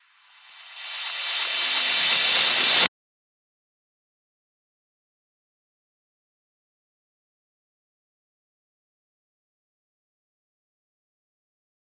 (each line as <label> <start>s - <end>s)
Reverse cymbals 0.3s - 2.9s